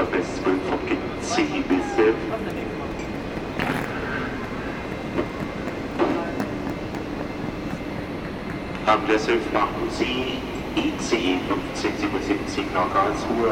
ICE train leaving 0:00.0 - 0:13.5
completely desesperated guy missing his train 0:00.0 - 0:13.5
trains 0:00.0 - 0:13.5

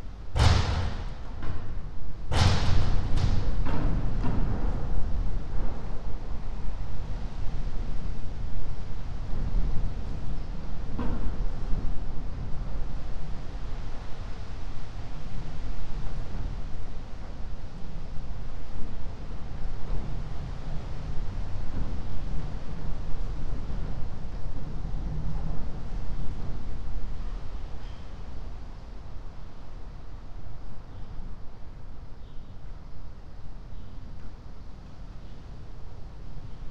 wind 0:00.0 - 0:36.7

